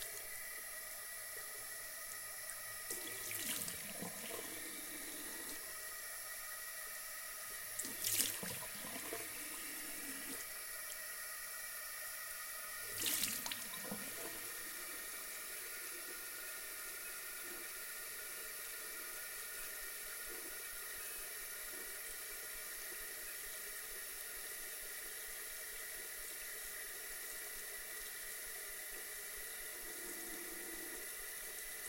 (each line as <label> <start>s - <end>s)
Tap water 12.9s - 14.4s